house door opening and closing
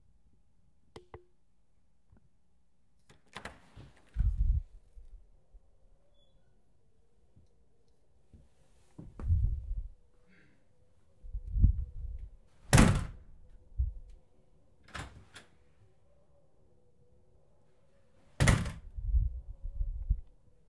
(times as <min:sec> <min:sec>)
0:03.1 0:04.6, 0:12.6 0:13.3, 0:14.8 0:15.6, 0:18.4 0:19.0